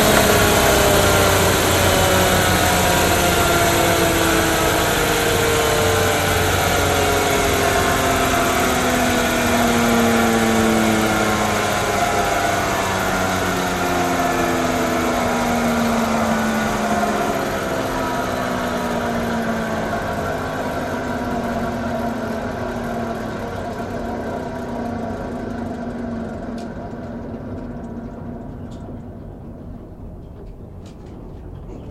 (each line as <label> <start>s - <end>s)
engine starts and stops 0.0s - 31.9s